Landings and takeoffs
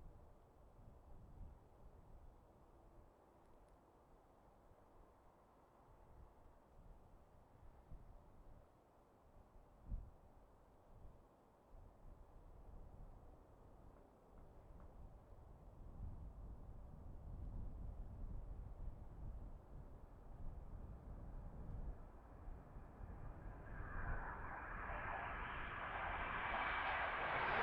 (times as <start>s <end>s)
21.3s 27.6s